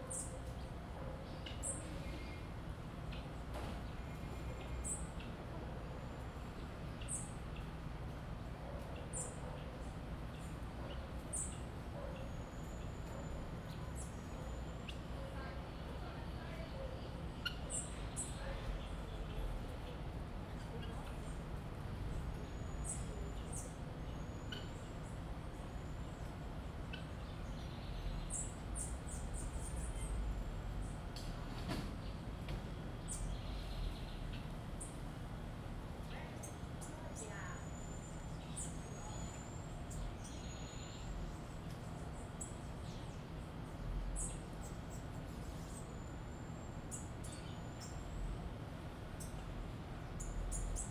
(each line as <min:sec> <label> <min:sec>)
0:01.0 Dogs 0:01.3
0:11.9 Dogs 0:12.4